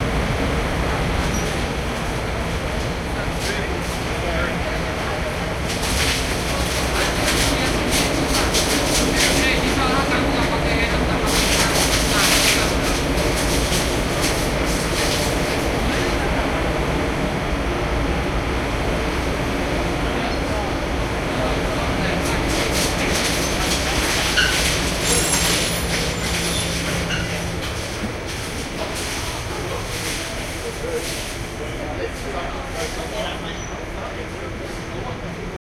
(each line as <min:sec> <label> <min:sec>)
0:06.4 philippinos talking 0:17.3